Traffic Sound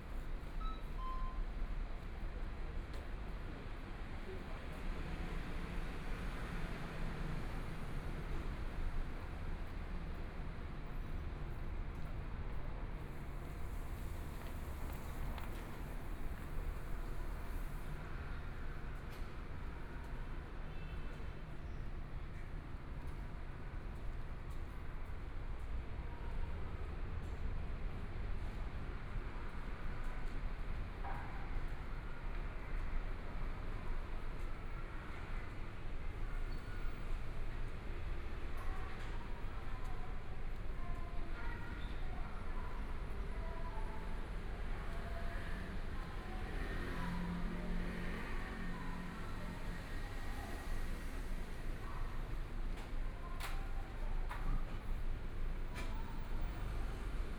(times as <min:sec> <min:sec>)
0:13.1 0:19.1, 0:44.2 0:53.6, 0:54.4 0:57.3